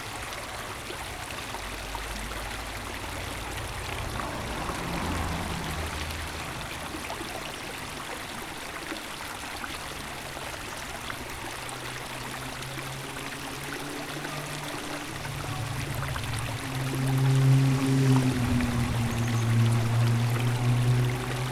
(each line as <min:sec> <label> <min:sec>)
0:00.0 sellscheider creek flows into the eschbach creek 0:21.5